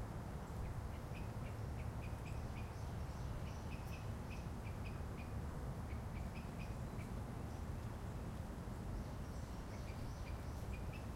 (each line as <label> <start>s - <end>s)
traffic in the background 0.0s - 11.1s
birds 0.4s - 11.1s